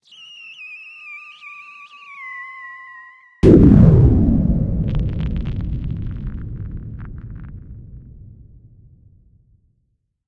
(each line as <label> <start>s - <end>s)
whistler 0.0s - 3.4s
debris falling 3.4s - 8.6s
explosion 3.4s - 9.7s